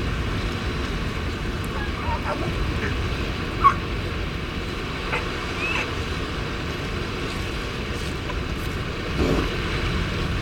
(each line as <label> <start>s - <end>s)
elephant seals mothers and pups loafing on a rocky outcrop 0.0s - 10.4s
peregrine calls 1.7s - 3.8s
peregrine calls 5.1s - 5.9s